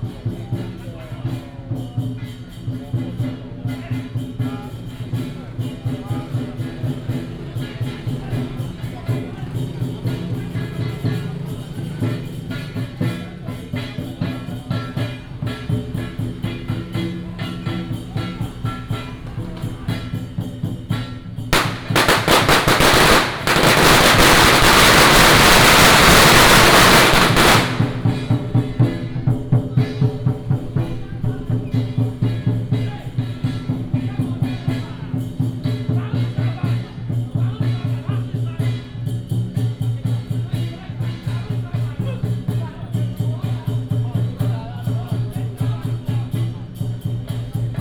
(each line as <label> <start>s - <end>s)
firecrackers 20.9s - 29.0s
Fireworks 21.6s - 28.4s